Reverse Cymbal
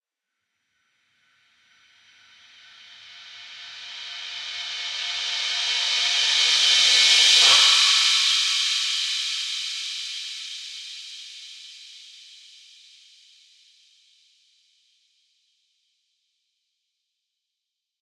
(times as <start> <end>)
2.0 11.1